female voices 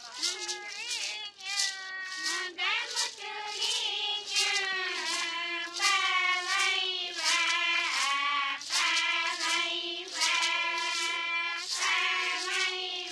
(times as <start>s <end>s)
0.0s 8.0s